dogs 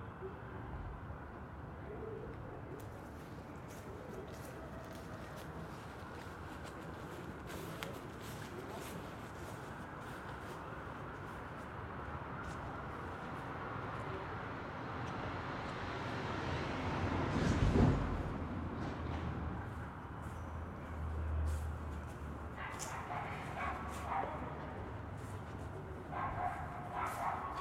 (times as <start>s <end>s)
22.6s 24.9s, 25.8s 27.6s